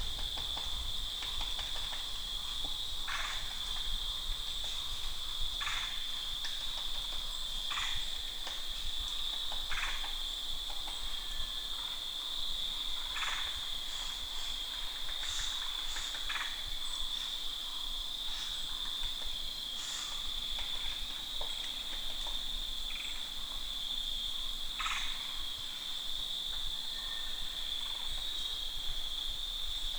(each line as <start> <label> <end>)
0.0 crickets 29.9
0.0 wind 29.9
0.0 woodpeckers slowly bonking at the trees 4.0